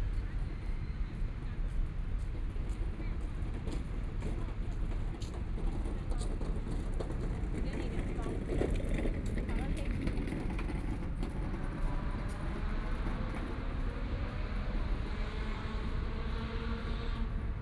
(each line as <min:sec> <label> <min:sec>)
0:10.2 Traffic Sound 0:17.6